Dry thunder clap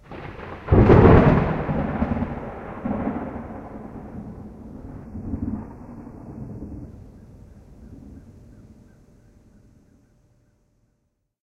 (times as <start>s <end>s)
0.0s 8.8s